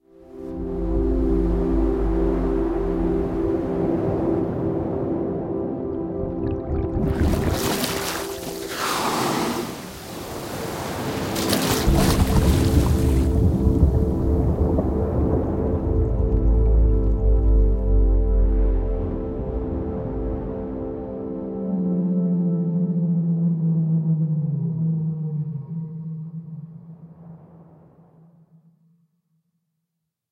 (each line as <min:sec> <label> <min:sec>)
0:00.1 ocean 0:28.3
0:08.6 whale comes up for a breath of air 0:10.2